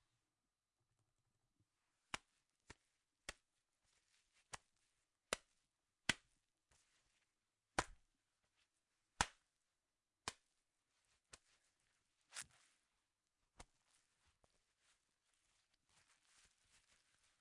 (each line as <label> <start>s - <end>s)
Wet Slaps 2.1s - 3.5s
Wet Slaps 6.1s - 6.3s
Wet Slaps 7.8s - 8.0s
Wet Slaps 9.2s - 9.5s
Wet Slaps 10.2s - 10.5s